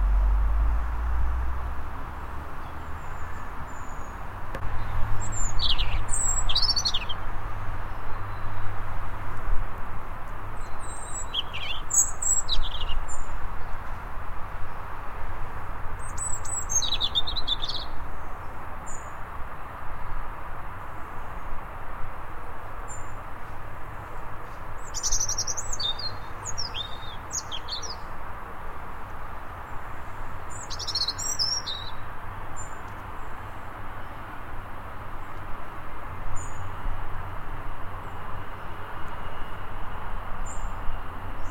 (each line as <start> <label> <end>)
0.0 Robin singing in a tree 8.9
10.5 Robin singing in a tree 14.0
16.0 Robin singing in a tree 19.3
22.8 Robin singing in a tree 28.3
28.9 Robin singing in a tree 35.5
36.3 Robin singing in a tree 37.0
37.9 Robin singing in a tree 41.5